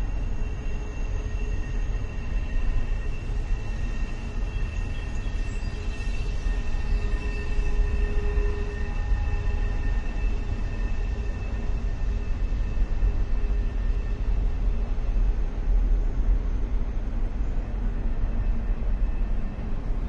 Freight train 0:00.0 - 0:20.0
whistle 0:00.2 - 0:11.3

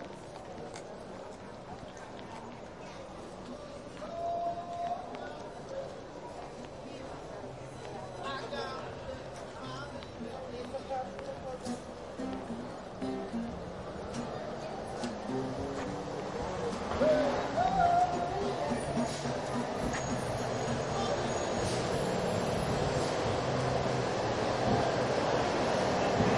street musicians 0:06.6 - 0:26.3

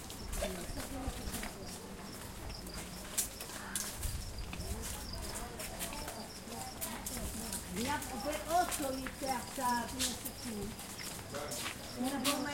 Shabbat prayer 0:00.0 - 0:12.5
children 0:00.0 - 0:12.5

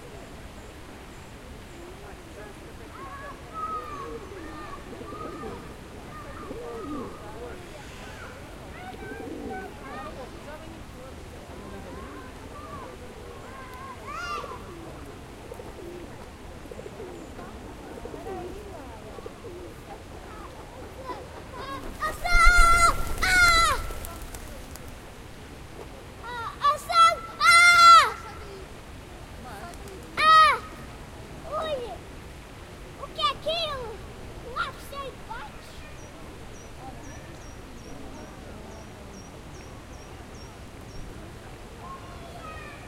water 0:00.0 - 0:22.4
birds 0:00.0 - 0:25.9
conversation 0:00.6 - 0:42.8
kids playing 0:02.0 - 0:10.8
kids playing 0:11.5 - 0:25.1
screamingvwings 0:21.8 - 0:24.6
water 0:23.4 - 0:42.8
kids playing 0:25.8 - 0:38.7
birds 0:34.6 - 0:42.8
kids playing 0:40.6 - 0:42.8

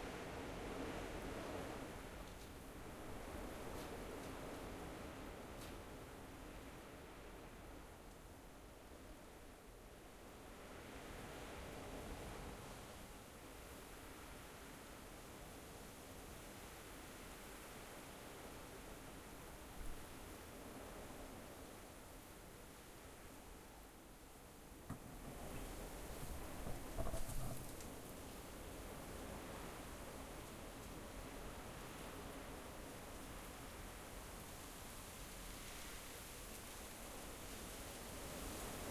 wind 0:00.0 - 0:38.9

